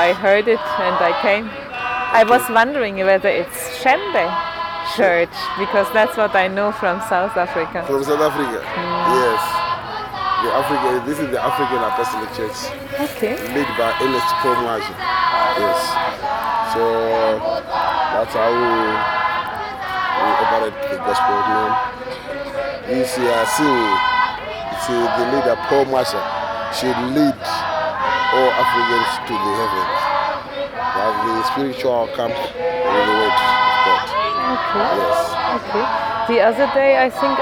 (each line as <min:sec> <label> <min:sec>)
0:00.0 gospel 0:37.4